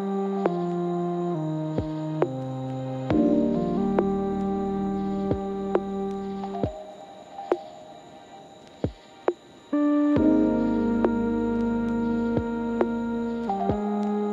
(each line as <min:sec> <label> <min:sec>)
0:03.1 bass 0:06.7
0:03.1 beat 0:07.8
0:10.2 beat 0:14.0
0:10.2 bass 0:14.3